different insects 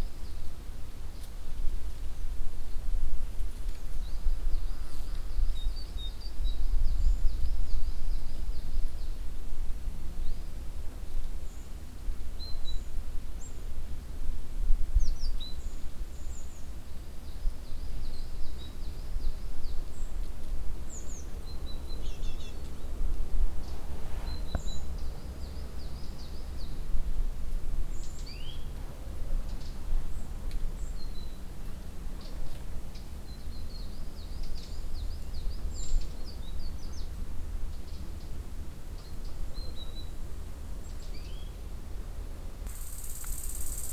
0:42.7 0:43.9

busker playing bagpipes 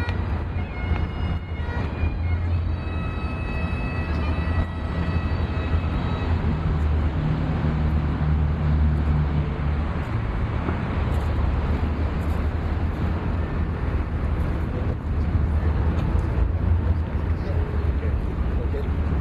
0:00.0 0:07.4

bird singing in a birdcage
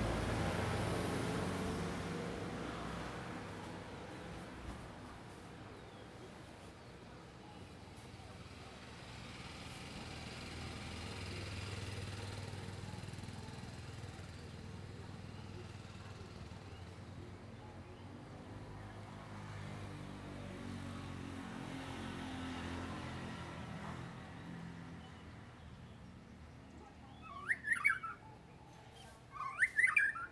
0:24.3 0:30.3

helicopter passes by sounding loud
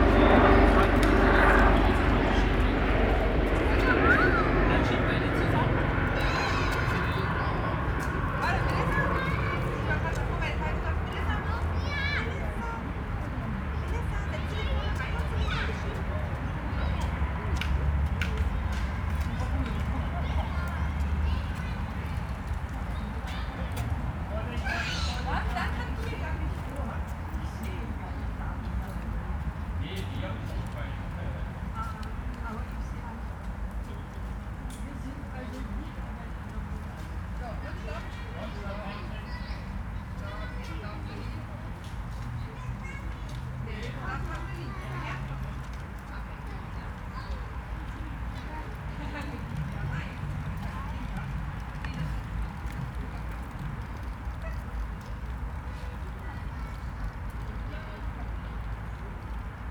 0:00.0 0:33.2

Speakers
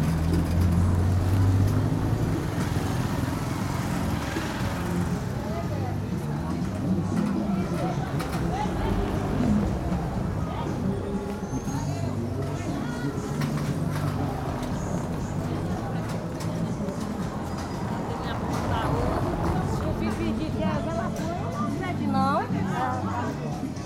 0:05.2 0:23.8

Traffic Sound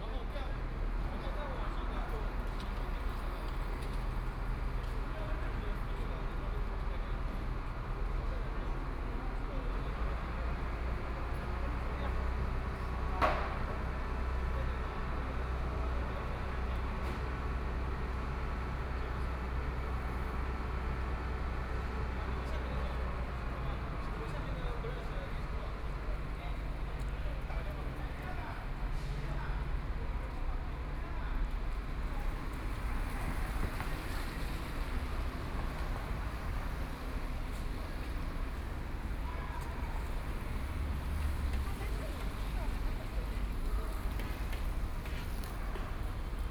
0:16.6 0:46.5

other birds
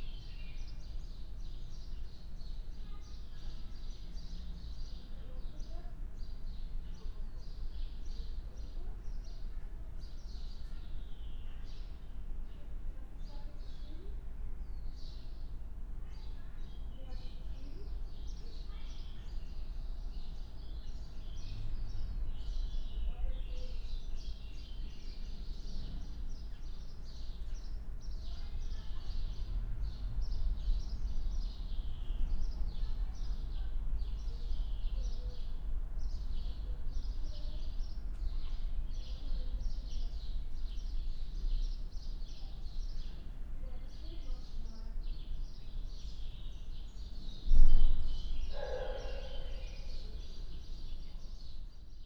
0:45.1 0:51.5

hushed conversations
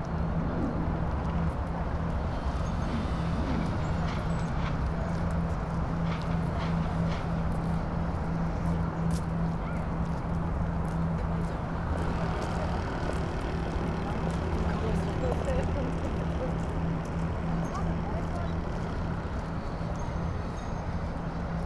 0:08.5 0:20.4

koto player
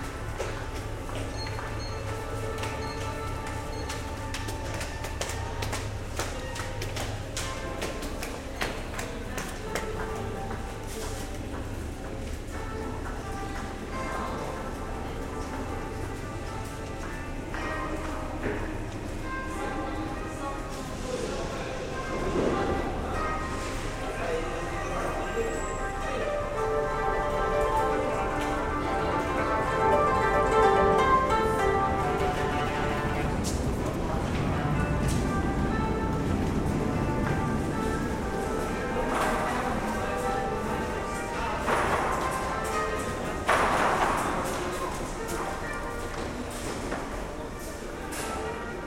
0:26.0 0:44.5

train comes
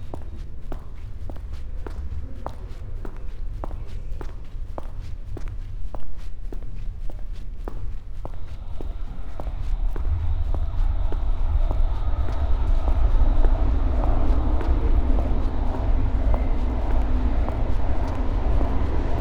0:08.3 0:19.2

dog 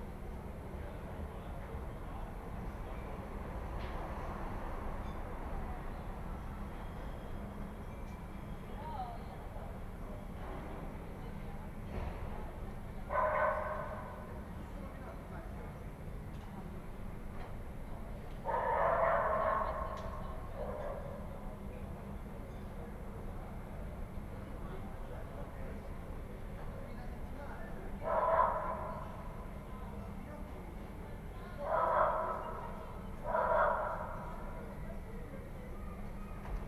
0:13.1 0:14.2, 0:18.5 0:21.2, 0:31.7 0:32.7, 0:33.3 0:34.4

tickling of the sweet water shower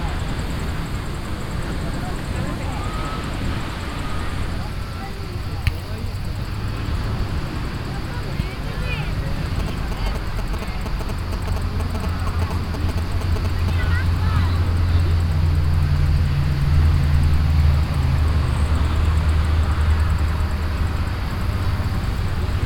0:09.2 0:22.6

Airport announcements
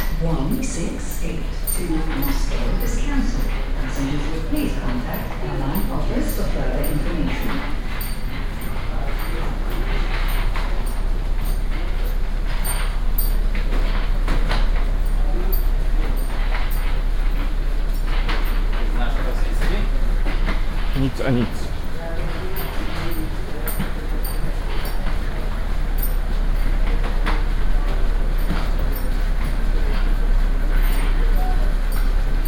0:00.0 0:12.8, 0:21.0 0:30.0

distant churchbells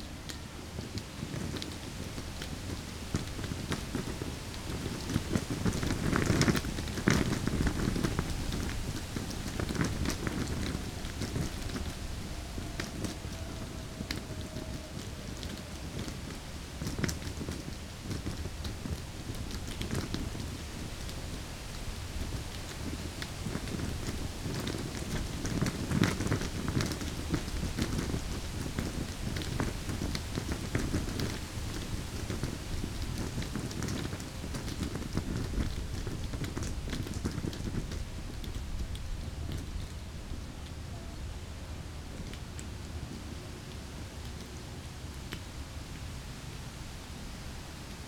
0:07.9 0:16.7

